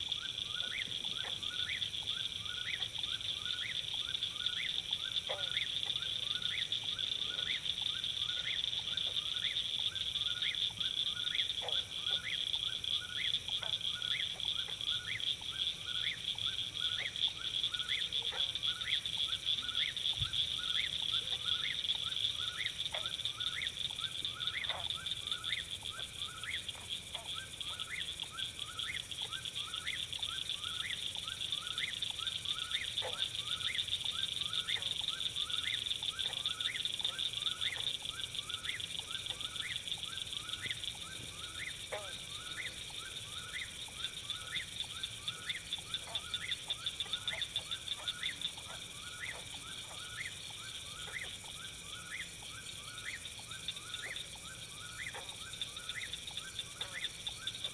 cricket frogs 0.0 - 57.7

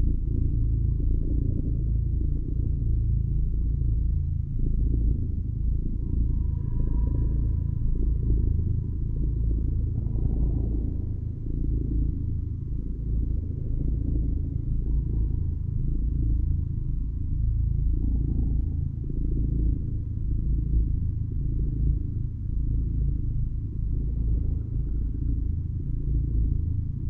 purr 0.0 - 27.0

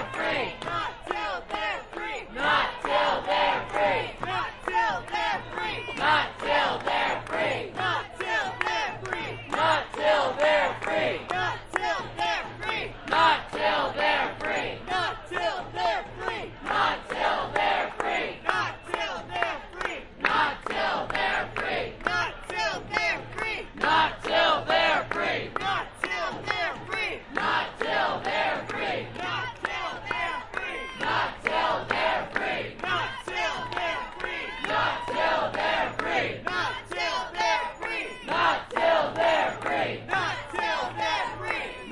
chant 0.0 - 41.9

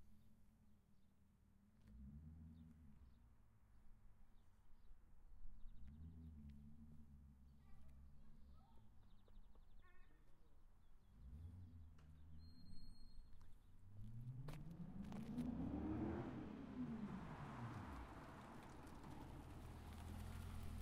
car start 14.6 - 20.8

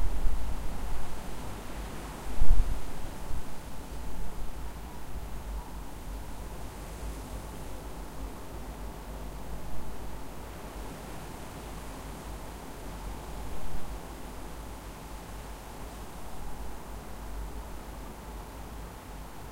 Wind between trees 0.0 - 19.5

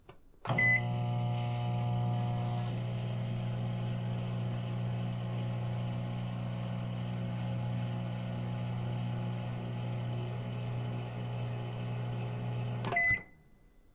microwave 0.4 - 13.4

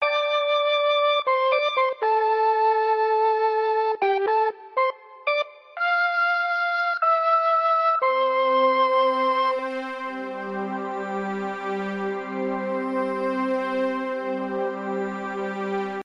mellotron 7.1 - 16.0

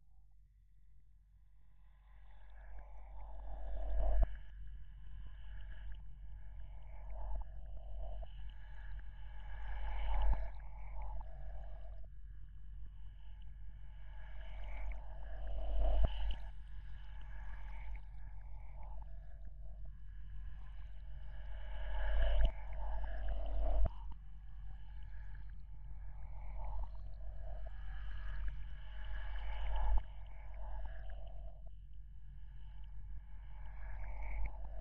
drone 13.4 - 31.7

